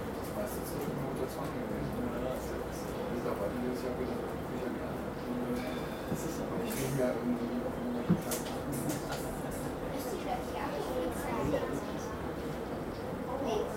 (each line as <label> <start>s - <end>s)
Tram ride 5.3s - 13.7s